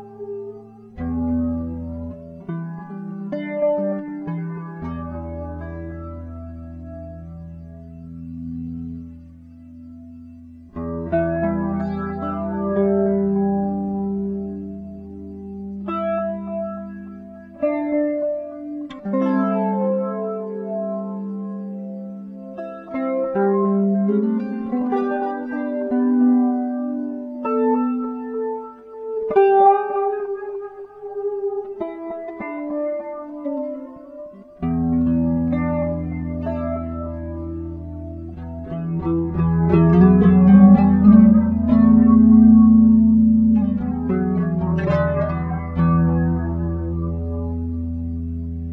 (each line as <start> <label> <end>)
0.0 improvisation guitar song 48.7